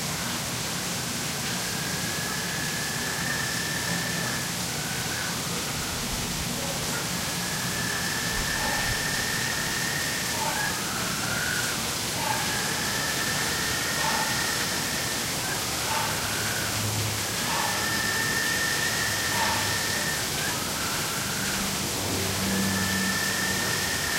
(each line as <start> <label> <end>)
0.0 waterfall 24.1